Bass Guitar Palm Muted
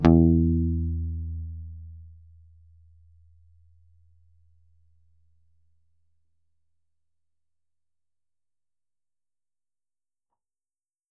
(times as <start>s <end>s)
0.0s 4.5s